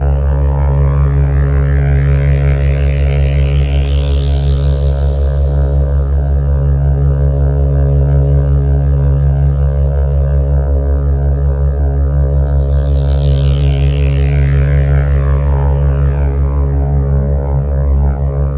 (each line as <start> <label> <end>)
0.0 Lonely Bass Loop 18.5